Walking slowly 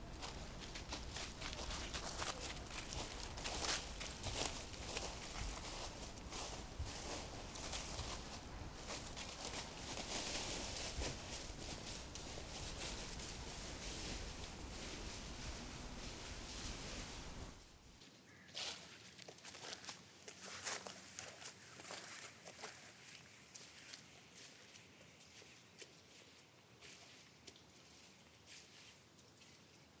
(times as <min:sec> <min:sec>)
0:00.0 0:17.7